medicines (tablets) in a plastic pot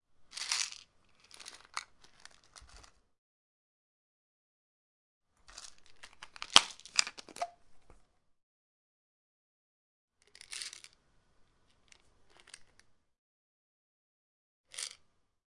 0:00.0 0:03.2, 0:05.3 0:08.4, 0:10.1 0:13.2, 0:14.6 0:15.4

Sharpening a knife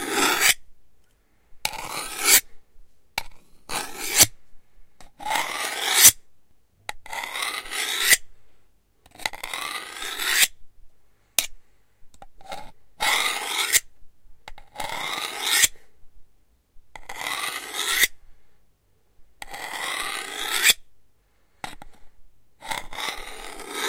0:00.0 0:00.6, 0:01.7 0:02.5, 0:03.7 0:04.3, 0:05.2 0:06.2, 0:07.1 0:08.3, 0:09.2 0:10.6, 0:12.5 0:13.9, 0:14.8 0:15.8, 0:17.0 0:18.2, 0:19.4 0:20.8, 0:22.6 0:23.8

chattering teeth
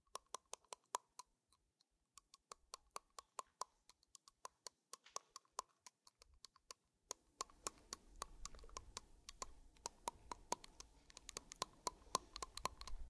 0:07.4 0:13.0

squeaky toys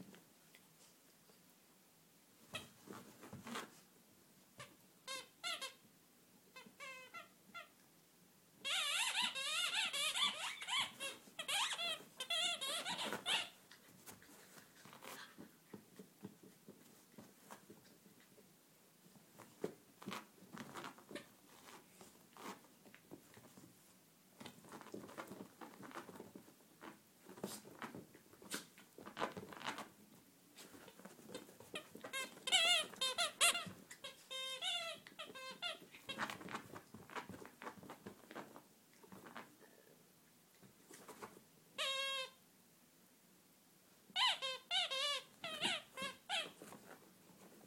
0:04.6 0:05.8, 0:06.6 0:07.7, 0:08.6 0:13.6, 0:31.7 0:36.4, 0:41.8 0:42.4, 0:44.2 0:46.6

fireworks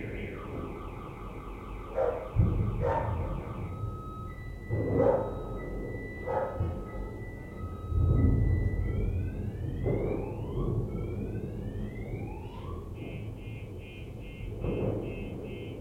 0:01.9 0:06.9, 0:07.8 0:12.3, 0:12.9 0:15.8

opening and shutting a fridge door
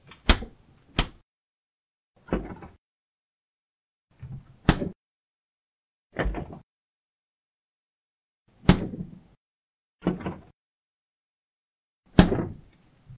0:00.0 0:01.2, 0:02.2 0:02.8, 0:04.2 0:05.0, 0:06.1 0:06.7, 0:08.6 0:09.4, 0:10.0 0:10.6, 0:12.1 0:13.1

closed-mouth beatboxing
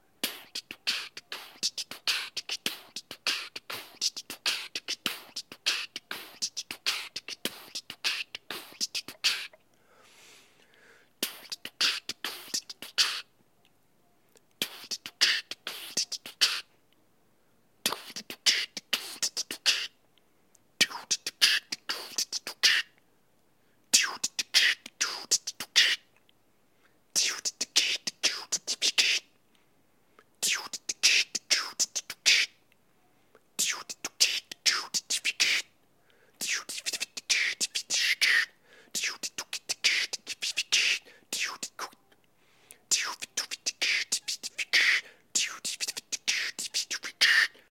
0:00.2 0:09.6, 0:11.2 0:13.3, 0:14.5 0:16.7, 0:17.8 0:20.0, 0:20.8 0:23.0, 0:23.9 0:26.1, 0:27.1 0:29.3, 0:30.3 0:32.6, 0:33.6 0:35.7, 0:36.4 0:42.0, 0:42.9 0:47.7

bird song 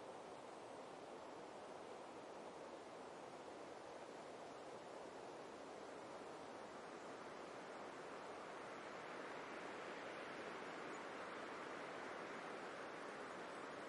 0:10.2 0:11.5

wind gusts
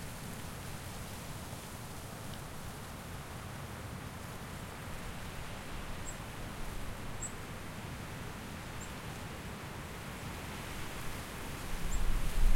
0:11.6 0:12.5

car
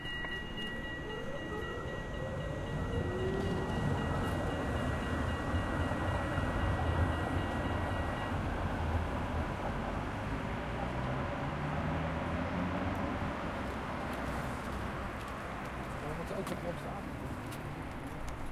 0:08.6 0:18.5

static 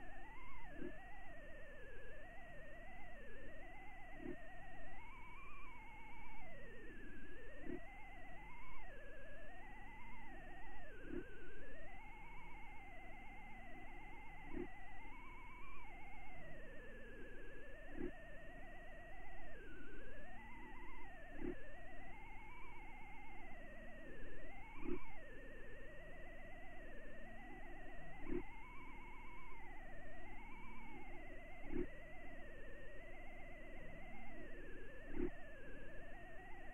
0:28.1 0:29.2, 0:30.4 0:32.6, 0:33.2 0:36.7

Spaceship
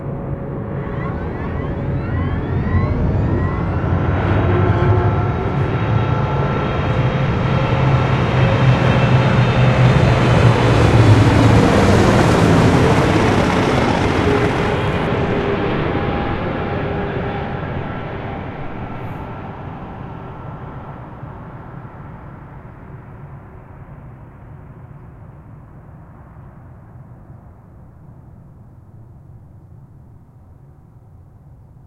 0:00.0 0:22.8

